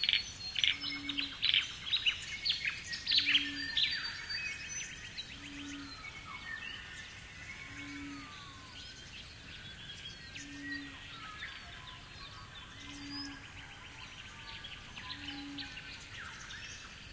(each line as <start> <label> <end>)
0.0 frogs 17.1
0.0 insects 17.1